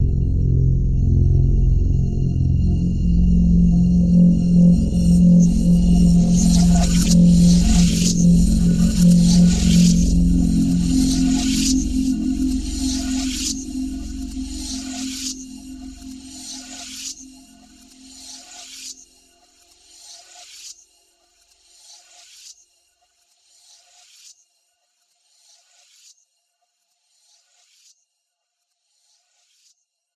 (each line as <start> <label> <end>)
0.0 multi-sampled synth pad 19.0